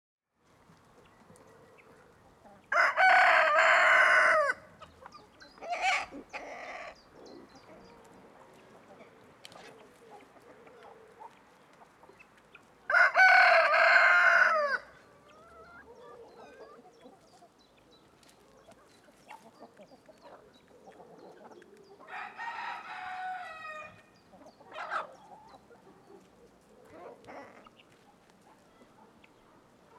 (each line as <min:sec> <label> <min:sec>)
0:01.0 rooster 0:11.4
0:12.9 rooster 0:17.5
0:18.4 rooster 0:29.9